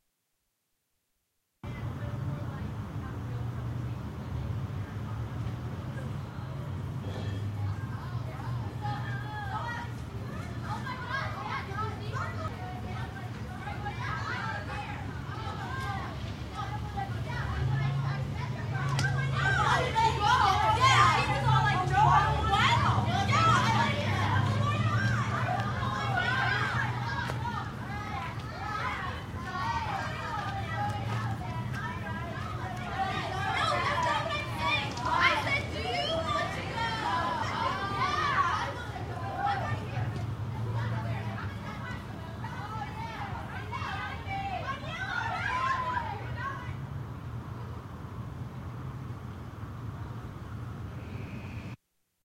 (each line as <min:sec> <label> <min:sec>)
0:01.6 street sounds 0:51.9
0:01.6 noisy women leaving a club 0:50.2